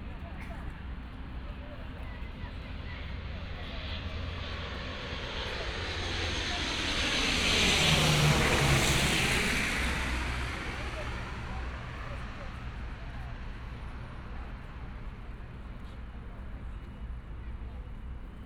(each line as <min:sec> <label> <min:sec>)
0:02.5 Aircraft flying through 0:14.3
0:02.7 Traffic Sound 0:15.4